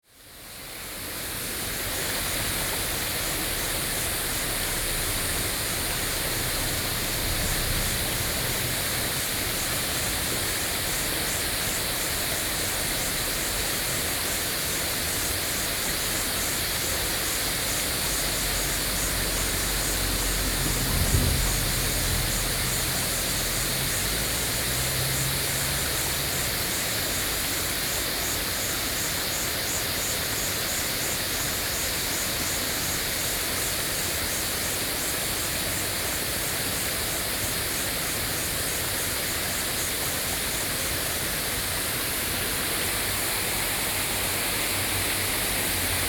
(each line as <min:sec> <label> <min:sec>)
0:00.0 Cicadas 0:46.0
0:00.2 Stream 0:46.0
0:02.5 Traffic Sound 0:13.9
0:15.8 Traffic Sound 0:28.4